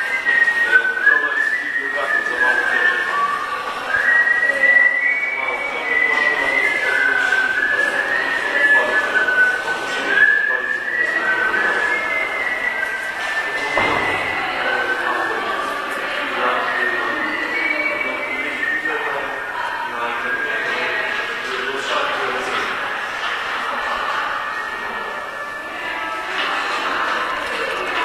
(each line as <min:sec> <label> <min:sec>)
0:00.0 guy was whistling the French anthem 0:22.8
0:11.0 steps 0:16.1